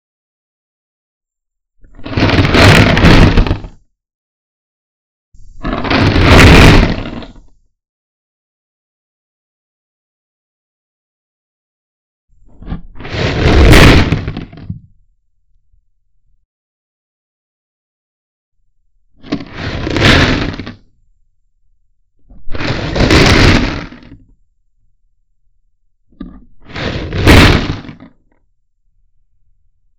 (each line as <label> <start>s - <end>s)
rock impact shake texture sound 2.0s - 3.8s
rock impact shake texture sound 5.4s - 7.3s
rock impact shake texture sound 12.7s - 14.6s
rock impact shake texture sound 19.3s - 20.8s
rock impact shake texture sound 22.4s - 24.2s
rock impact shake texture sound 26.6s - 28.0s